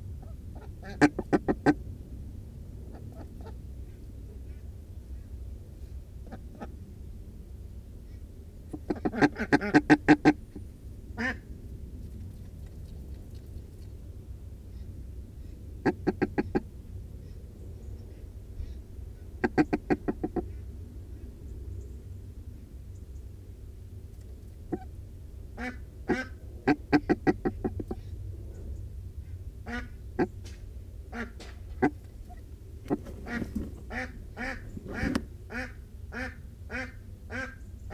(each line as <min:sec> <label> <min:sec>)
0:00.0 amazing warning noise - very huffy and puffy 0:37.9
0:00.2 Ducks and Humans interacting 0:01.8
0:06.2 Ducks and Humans interacting 0:06.8
0:08.7 Ducks and Humans interacting 0:10.6
0:14.7 Ducks and Humans interacting 0:17.4
0:19.1 Ducks and Humans interacting 0:20.7
0:25.6 Ducks and Humans interacting 0:28.1
0:31.1 Ducks and Humans interacting 0:37.9